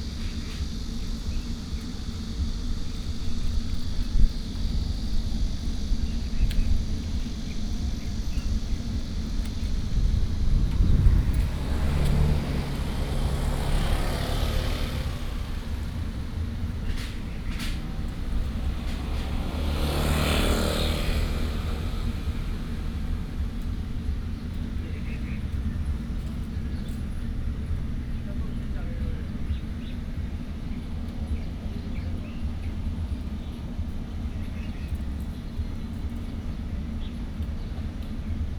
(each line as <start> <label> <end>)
0.0 Birdsong 38.5
0.0 Traffic Sound 38.5